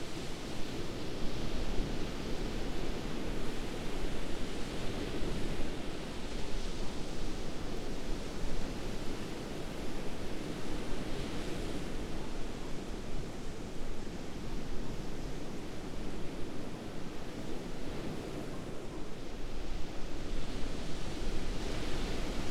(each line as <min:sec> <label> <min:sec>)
0:00.0 waves 0:22.5